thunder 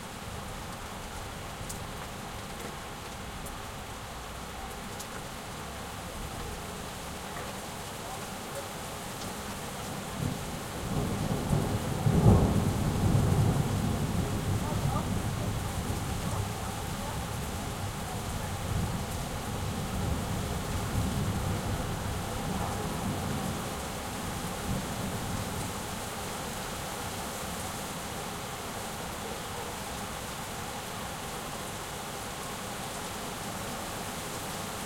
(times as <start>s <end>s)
10.2s 16.2s